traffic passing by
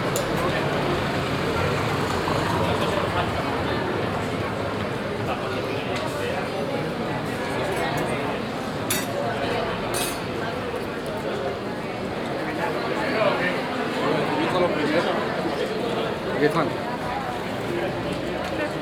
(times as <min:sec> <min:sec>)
0:00.0 0:06.0